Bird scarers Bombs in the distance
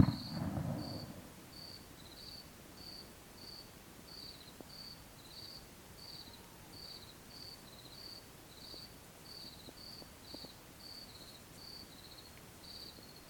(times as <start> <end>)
0.0 1.3